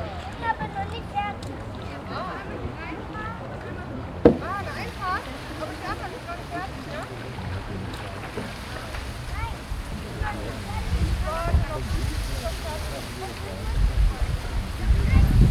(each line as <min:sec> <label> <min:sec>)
0:00.0 people talking 0:15.5
0:00.0 surfer on the lake 0:15.5
0:00.0 wind 0:15.5